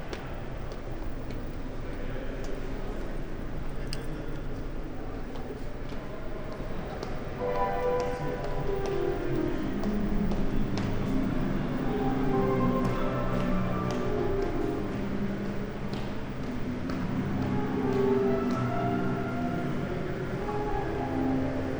5.1s people exercising on a public piano 21.7s

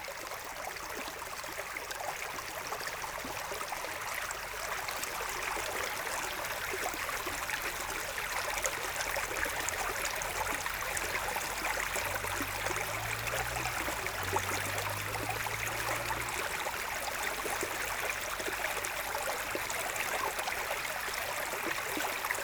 0.0s small stream 22.4s

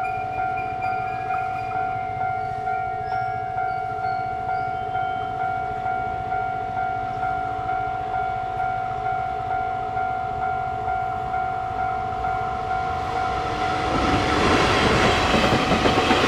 0.0s Train traveling through 16.2s

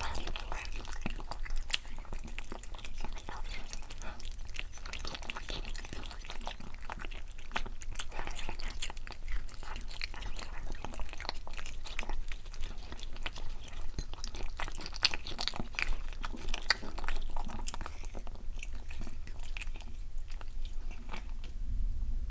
0.0s Cats eating 21.6s

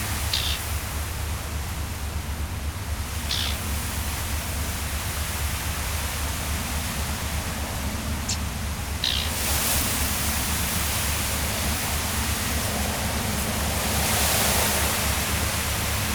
0.0s Eurasian reed warbler 1.4s
0.0s Wind in the reeds 16.1s
2.9s Eurasian reed warbler 5.5s
6.6s Eurasian reed warbler 12.8s

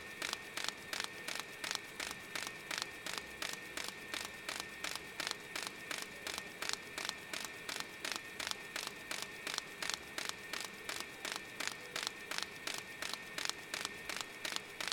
0.0s pages being collated on a machine 14.9s

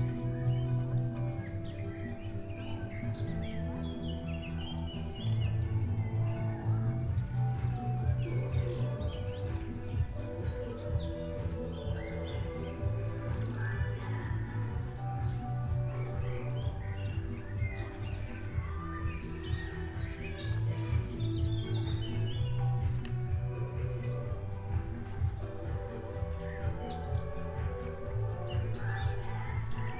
0.0s birds in some large old trees 29.9s
0.0s street mix 29.9s

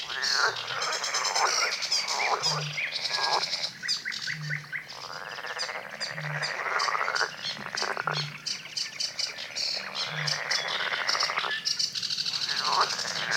0.0s birds 13.3s
0.0s frogs 13.3s

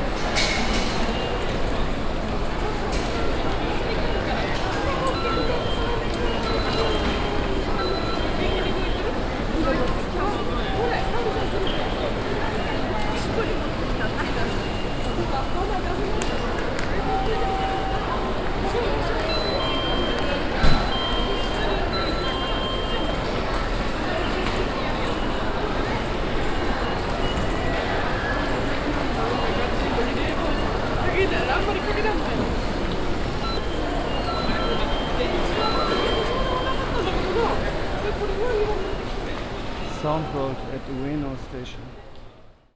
0.0s ticket machines 41.7s

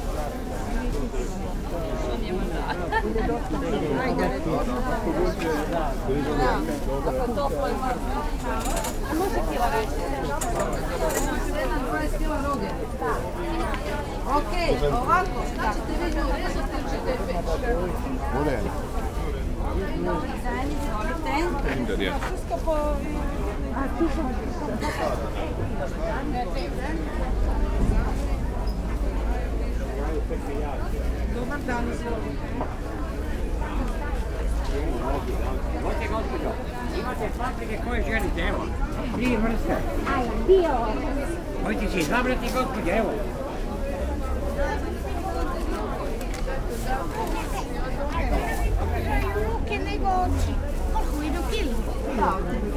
0.0s bustling with customers and vendors 52.7s

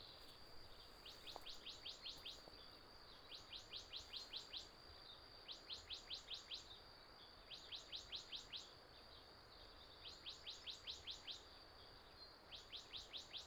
0.0s Insect noise 5.0s

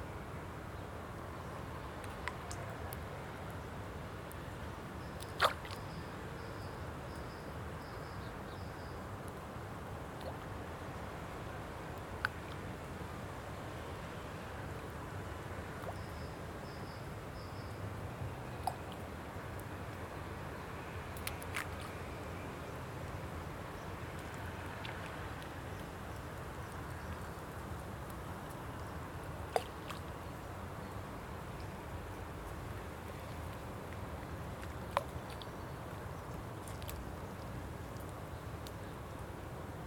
0.0s Water 39.8s

